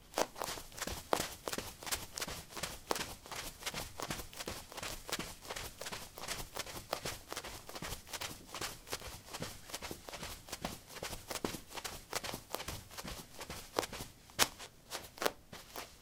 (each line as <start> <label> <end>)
0.0 carpet 09c highheels run 16.0